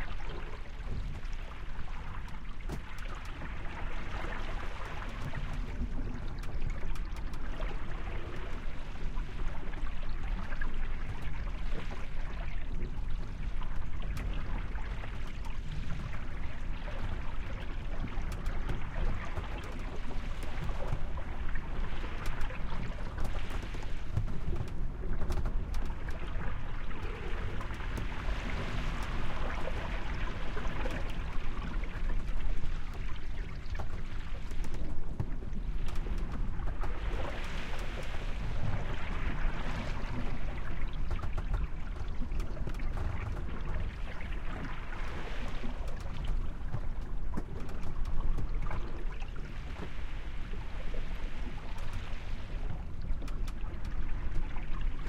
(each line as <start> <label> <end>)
0.0 Sailboat Sailing Interior 55.0
0.0 water 55.0